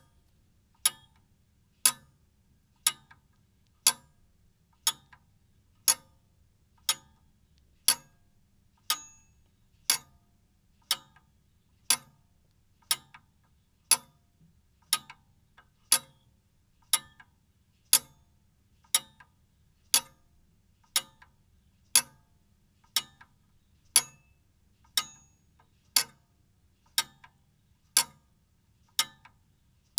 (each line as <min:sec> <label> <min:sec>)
0:00.8 Wall clock tick from an old pendulum clock 0:01.2
0:01.9 Wall clock tick from an old pendulum clock 0:02.1
0:02.9 Wall clock tick from an old pendulum clock 0:03.3
0:03.9 Wall clock tick from an old pendulum clock 0:04.1
0:04.9 Wall clock tick from an old pendulum clock 0:05.3
0:05.9 Wall clock tick from an old pendulum clock 0:06.1
0:06.8 Wall clock tick from an old pendulum clock 0:07.2
0:07.9 Wall clock tick from an old pendulum clock 0:08.2
0:08.9 Wall clock tick from an old pendulum clock 0:09.2
0:09.9 Wall clock tick from an old pendulum clock 0:10.2
0:10.9 Wall clock tick from an old pendulum clock 0:11.3
0:11.9 Wall clock tick from an old pendulum clock 0:12.2
0:12.9 Wall clock tick from an old pendulum clock 0:13.3
0:13.9 Wall clock tick from an old pendulum clock 0:14.2
0:14.9 Wall clock tick from an old pendulum clock 0:16.3
0:16.9 Wall clock tick from an old pendulum clock 0:17.3
0:18.0 Wall clock tick from an old pendulum clock 0:18.2
0:18.9 Wall clock tick from an old pendulum clock 0:19.3
0:20.0 Wall clock tick from an old pendulum clock 0:20.2
0:21.0 Wall clock tick from an old pendulum clock 0:21.3
0:22.0 Wall clock tick from an old pendulum clock 0:22.3
0:24.0 Wall clock tick from an old pendulum clock 0:24.3
0:25.0 Wall clock tick from an old pendulum clock 0:25.4
0:26.0 Wall clock tick from an old pendulum clock 0:26.2
0:27.0 Wall clock tick from an old pendulum clock 0:27.4
0:28.0 Wall clock tick from an old pendulum clock 0:28.2
0:29.0 Wall clock tick from an old pendulum clock 0:29.4